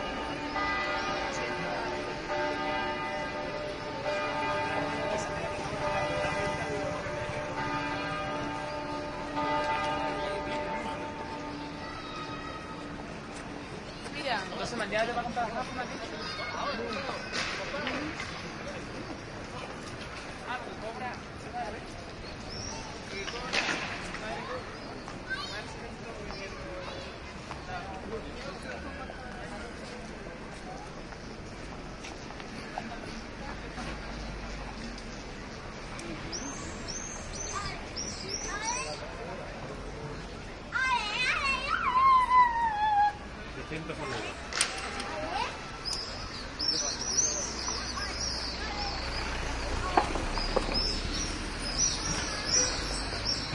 traffic noise 0:00.0 - 0:53.5
people talking in Spanish 0:14.0 - 0:18.8

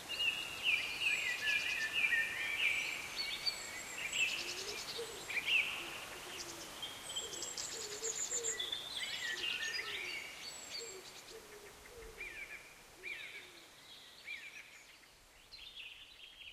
birdsong 0:00.0 - 0:16.5

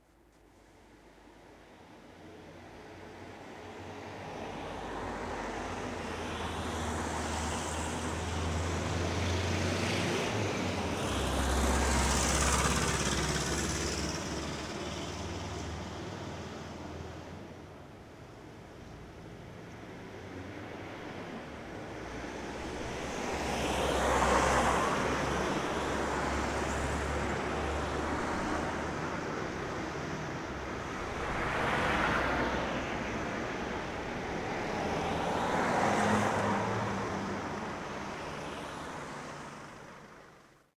traffic sounds 0:00.0 - 0:40.7

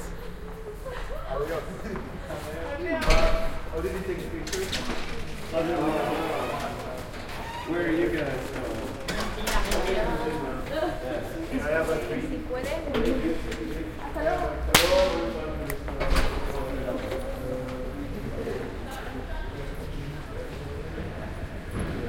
opening a door 0:06.0 - 0:10.1

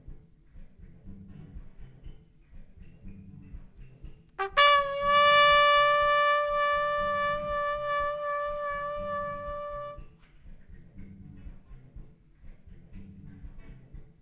trumpet player 0:04.4 - 0:10.1

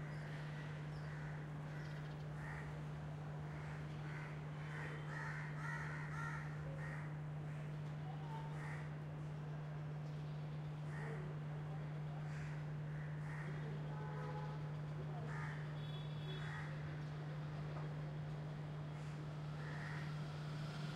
distant BG traffic 0:00.0 - 0:20.9
birds 0:00.0 - 0:02.8
crows 0:00.2 - 0:02.8
crows 0:03.5 - 0:07.7
crows 0:08.4 - 0:09.0
crows 0:10.9 - 0:11.4
crows 0:12.2 - 0:13.9
crows 0:15.2 - 0:16.8
crows 0:19.0 - 0:20.3

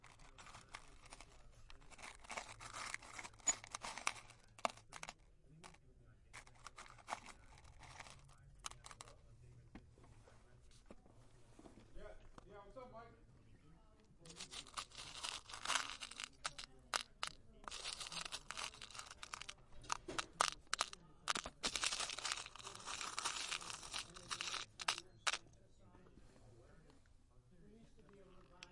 fondling a lot of nuts and bolts 0:00.0 - 0:09.6
fondling a lot of nuts and bolts 0:14.2 - 0:25.5
dropping them into their plastic box 0:14.3 - 0:25.4

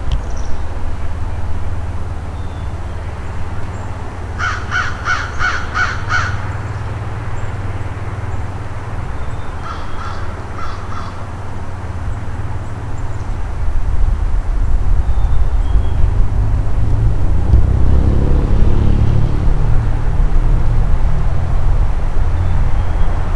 distant traffic noise 0:00.0 - 0:23.3
wind 0:00.0 - 0:23.3
Crows Calling 0:04.3 - 0:07.0
Crows Calling 0:09.4 - 0:11.8

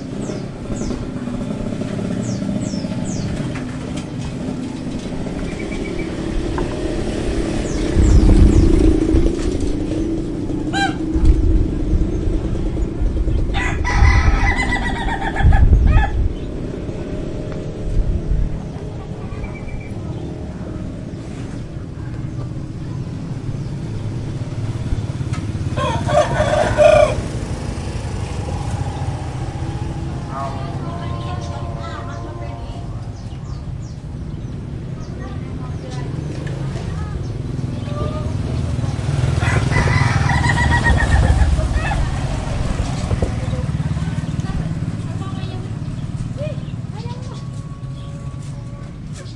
motorbikes 0:00.0 - 0:49.3
voices 0:00.0 - 0:49.3
prayer 0:28.4 - 0:33.2
chickens 0:39.4 - 0:43.8

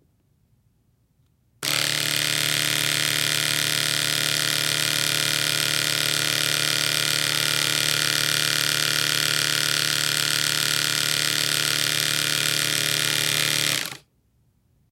electric razor 0:01.6 - 0:14.0

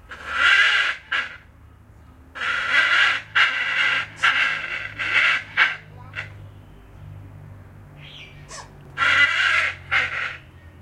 harsh call of the Papuan Hornbill 0:00.1 - 0:01.5
harsh call of the Papuan Hornbill 0:02.4 - 0:06.4
harsh call of the Papuan Hornbill 0:08.0 - 0:10.5

